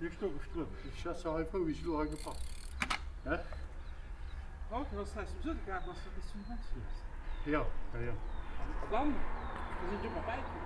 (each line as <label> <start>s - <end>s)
bicycle riders coming up the hill 0.0s - 10.6s
cars passing by 0.0s - 10.6s